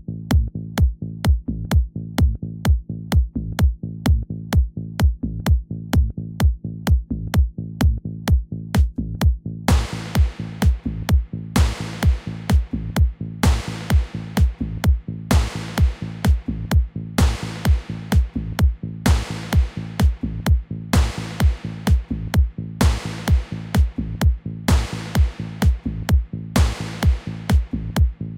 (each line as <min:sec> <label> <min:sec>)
0:09.7 HiHat 0:28.3
0:09.7 Clap 0:10.8
0:11.6 Clap 0:12.7
0:13.4 Clap 0:14.6
0:15.3 Clap 0:16.5
0:17.2 Clap 0:18.4
0:19.1 Clap 0:20.2
0:21.0 Clap 0:22.1
0:22.8 Clap 0:24.0
0:24.7 Clap 0:25.9
0:26.6 Clap 0:27.8